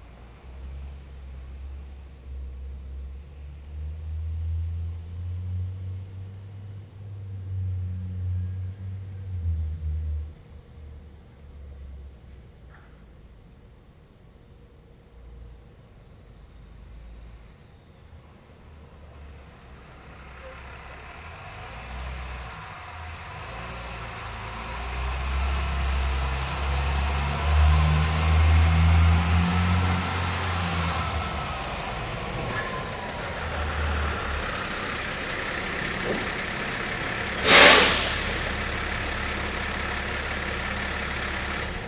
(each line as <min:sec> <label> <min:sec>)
0:00.0 truck 0:41.8
0:18.7 truck parked in a garage starting its motor 0:41.8
0:30.3 air break 0:40.8